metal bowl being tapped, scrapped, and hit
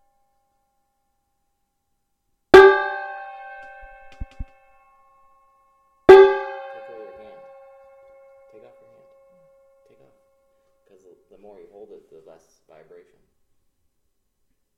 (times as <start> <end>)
2.6 10.4